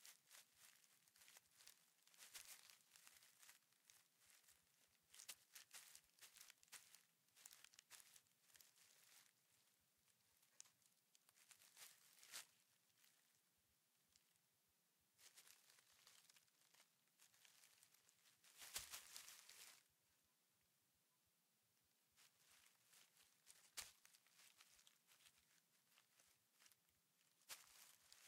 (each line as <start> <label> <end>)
0.0 Feet in leafs 4.5
5.1 Feet in leafs 9.3
11.3 Feet in leafs 12.6
15.2 Feet in leafs 19.8
22.2 Feet in leafs 26.8
27.4 Feet in leafs 28.2